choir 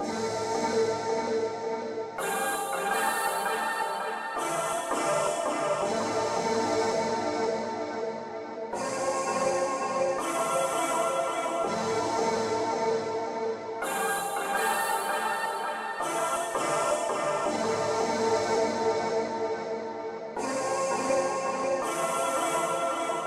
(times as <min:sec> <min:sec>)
0:02.1 0:07.6, 0:08.8 0:13.2, 0:13.8 0:19.4, 0:20.4 0:23.2